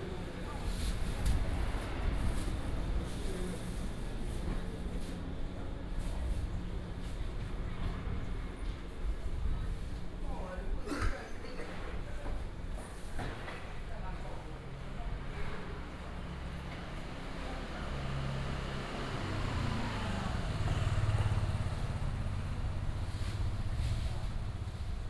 0.0s Walking in the alley 25.0s
14.6s Traffic sound 25.0s

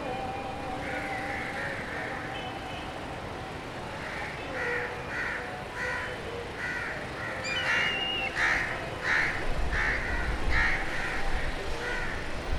0.0s Evening Azhan 12.5s
4.4s Birds 12.5s

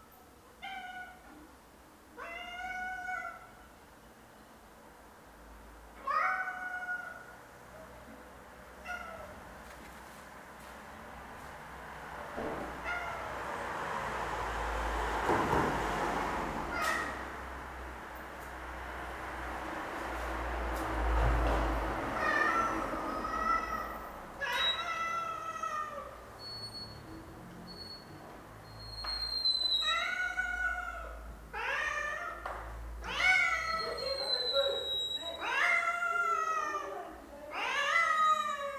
2.2s Cat screams for food 3.5s
6.0s Cat screams for food 7.3s
16.7s Cat screams for food 17.2s
22.1s Cat screams for food 26.2s
28.9s Cat screams for food 38.7s

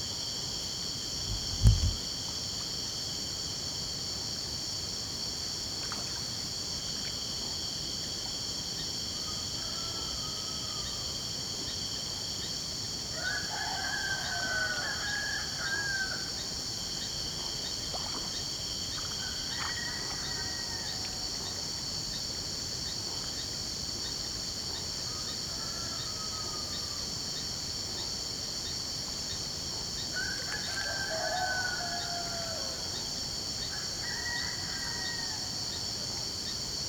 0.0s crickets 36.8s
1.2s light water movements (done by fishes) 3.0s
5.4s light water movements (done by fishes) 9.2s
9.2s rooster singing far away 11.2s
13.1s rooster singing far away 16.4s
13.5s light water movements (done by fishes) 25.0s
19.3s rooster singing far away 21.3s
30.1s rooster singing far away 33.0s
33.7s rooster singing far away 35.8s

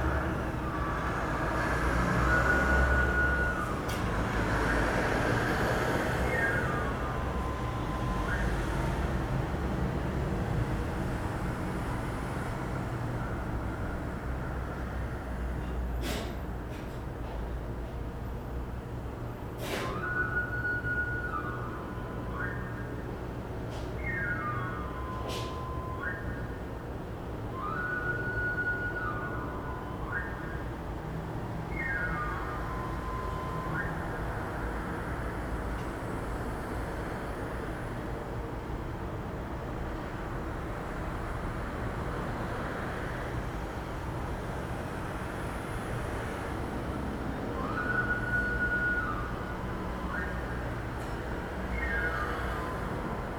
2.2s whistle 4.0s
6.2s whistle 8.9s
19.7s whistle 26.7s
27.5s whistle 35.4s
47.5s whistle 53.3s

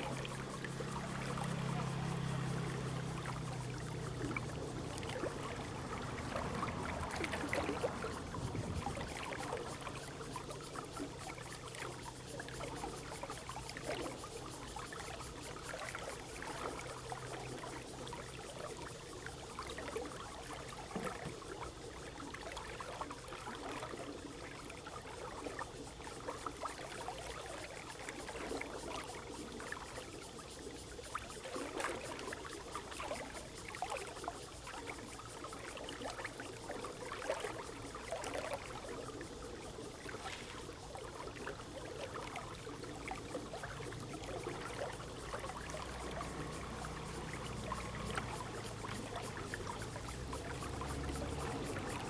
0.0s Irrigation waterway 52.0s
0.3s Traffic Sound 8.8s
45.0s Traffic Sound 52.0s

